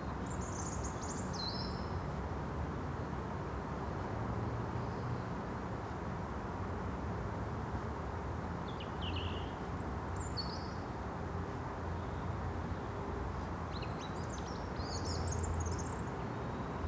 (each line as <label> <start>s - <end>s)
drone of traffic on the road 0.0s - 16.8s